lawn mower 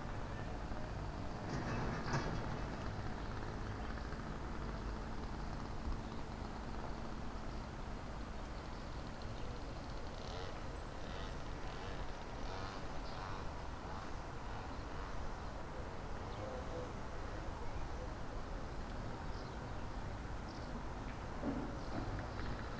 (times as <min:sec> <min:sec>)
0:01.0 0:15.7